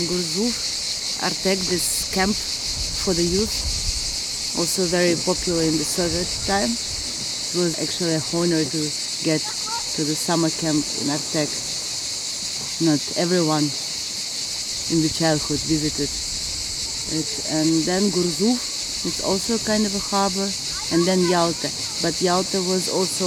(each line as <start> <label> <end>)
0.0 svetlana introduces the villa / castle 3.8
0.0 cicades 23.2
0.0 seawaves 23.2
4.5 svetlana introduces the villa / castle 11.9
9.4 kids play in the water 11.0
12.6 svetlana introduces the villa / castle 14.0
14.8 svetlana introduces the villa / castle 16.2
17.0 svetlana introduces the villa / castle 23.2
19.8 kids play in the water 22.8